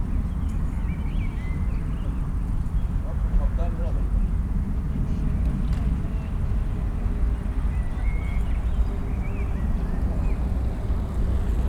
activity in the street 0:00.0 - 0:11.6

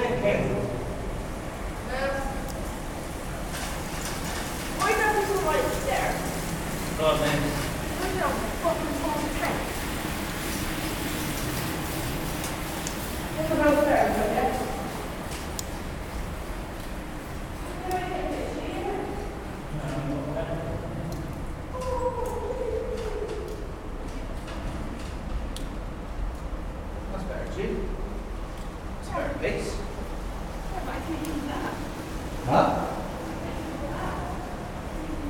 cyclists on Bristol to Bath trail riding through an old rail tunnel 0:00.0 - 0:35.2

